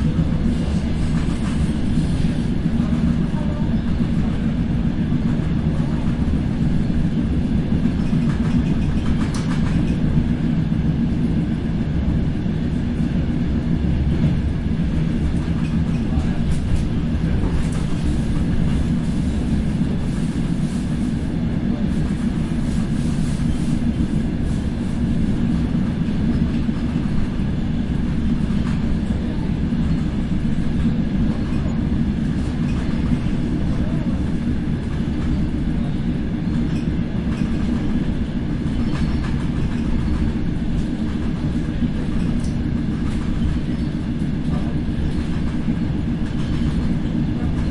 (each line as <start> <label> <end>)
0.0 train noise 47.7